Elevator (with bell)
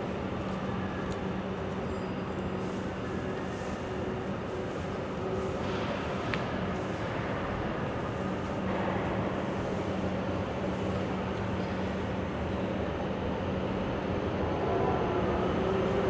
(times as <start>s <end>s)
0.0s 6.1s